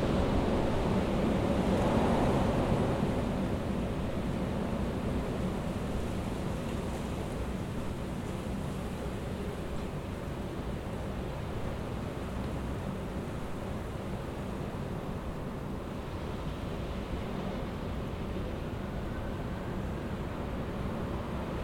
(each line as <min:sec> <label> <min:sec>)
0:00.0 Strong gusts of wind 0:21.6